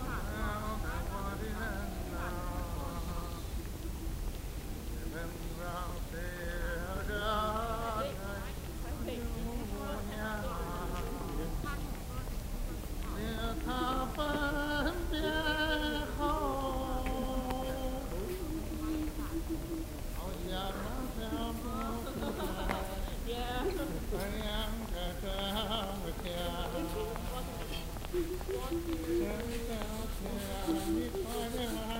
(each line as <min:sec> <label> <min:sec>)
0:00.0 voices of a man singing 0:31.9
0:07.7 distant voice repeatively shouting 0:31.9